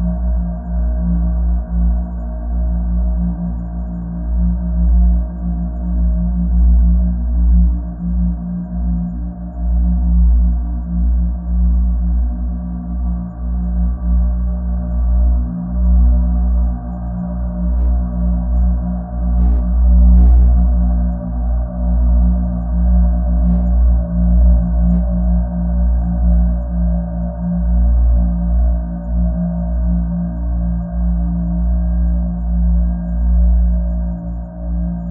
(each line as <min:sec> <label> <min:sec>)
0:12.3 slow dark drone 0:32.0